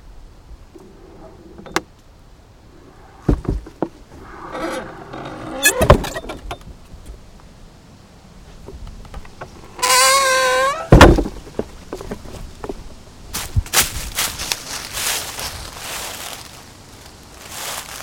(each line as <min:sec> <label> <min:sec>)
0:00.0 wind 0:18.0
0:02.7 creaking sounds 0:06.6
0:09.1 creaking sounds 0:12.2